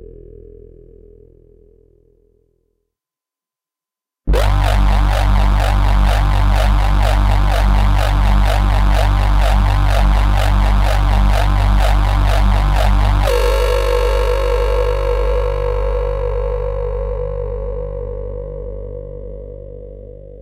laser 4.3 - 13.5
drone 4.3 - 20.4

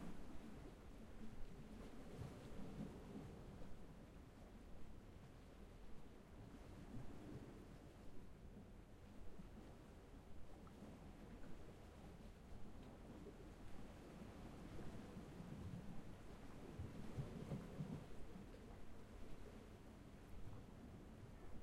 waves 0.0 - 21.6

